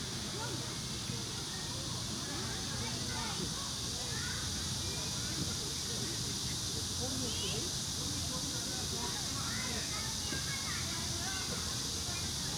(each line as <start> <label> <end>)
0.0 cicada 12.5